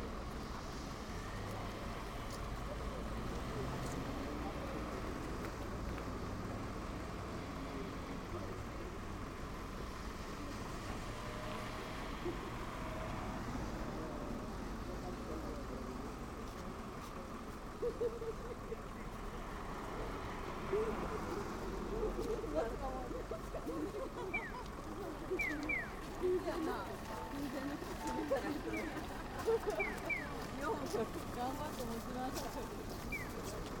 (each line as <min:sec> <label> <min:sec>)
0:00.0 Pedestrian warning sounds when crossing the road 0:33.8